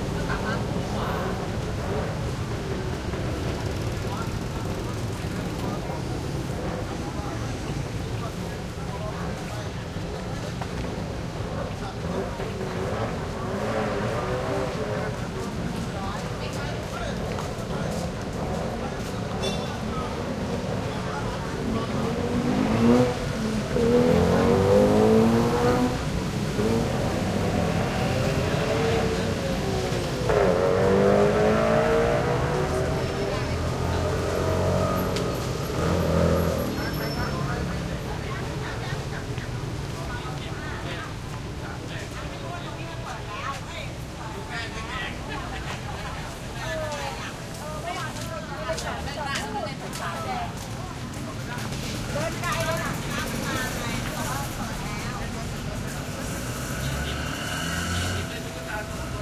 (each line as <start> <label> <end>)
0.0 light traffic 59.2
0.0 motorcycles 59.2
0.0 pedestrians 59.2